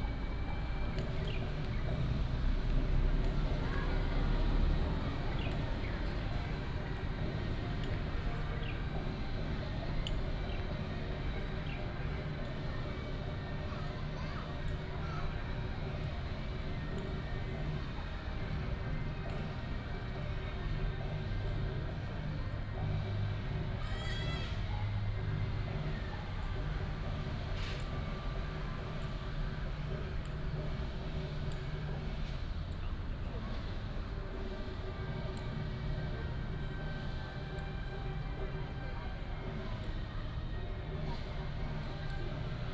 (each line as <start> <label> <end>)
0.0 Traffic sound 42.7